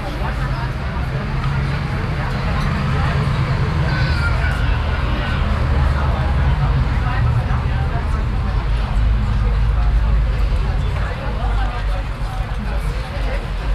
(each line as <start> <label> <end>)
0.0 people in an open street cafe 13.7
0.0 traffic sound 13.7